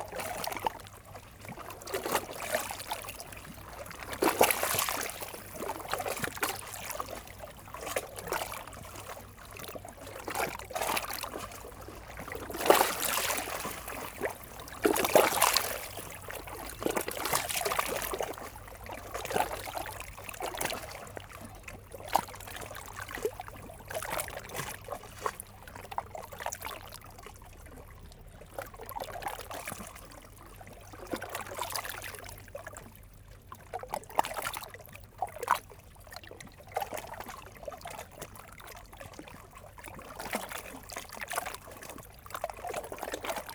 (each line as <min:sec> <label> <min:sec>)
0:00.0 quiet river Seine 0:43.5